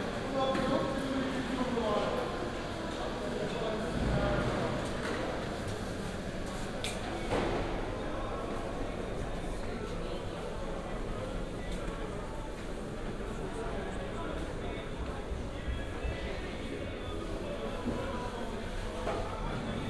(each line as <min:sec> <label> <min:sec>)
0:02.2 walking around worker's market 0:19.8